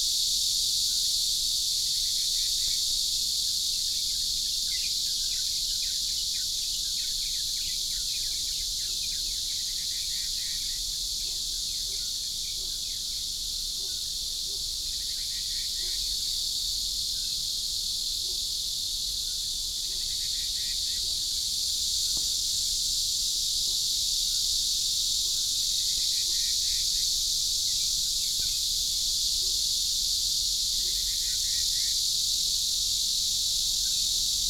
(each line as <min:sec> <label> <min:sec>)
0:00.0 Cicadas 0:34.4